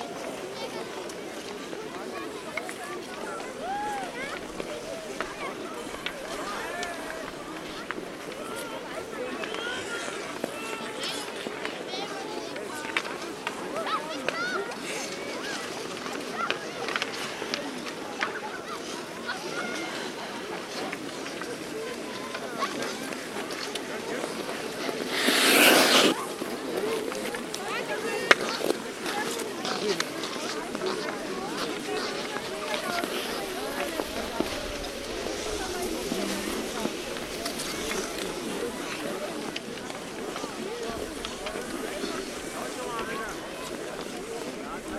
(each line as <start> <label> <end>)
0.0 Skating 44.9
20.9 Icehokey 27.6